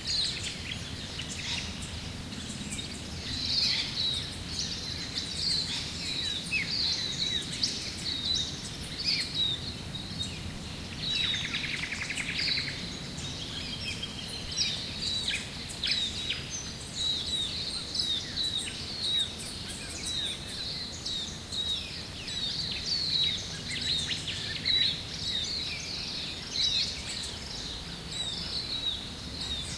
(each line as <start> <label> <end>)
0.0 birds 29.7